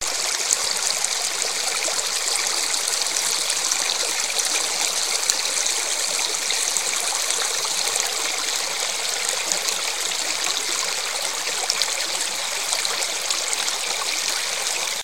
creek 0:00.0 - 0:15.0

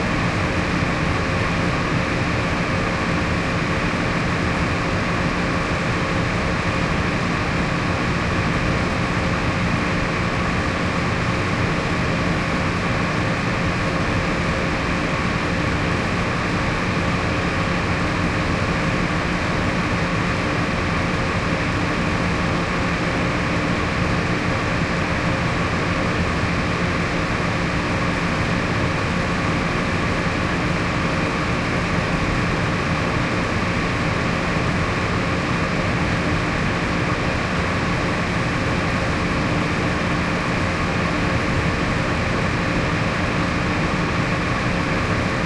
heavy ventilation rumble 0:00.0 - 0:45.4

